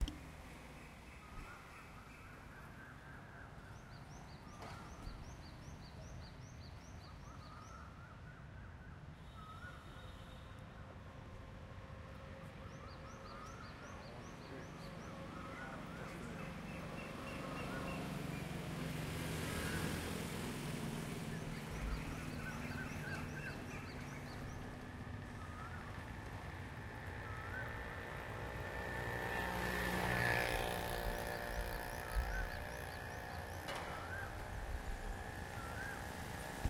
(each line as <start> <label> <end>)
12.7 car 36.6
12.7 motorbike 36.6